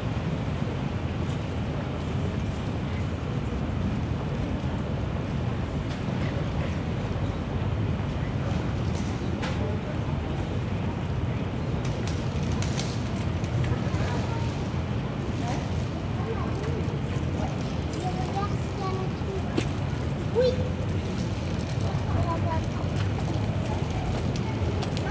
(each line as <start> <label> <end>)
8.1 people talking 25.1